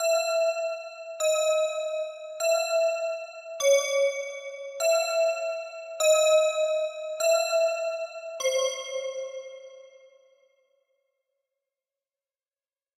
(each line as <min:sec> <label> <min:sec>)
0:00.0 Creepy Bells 0:10.0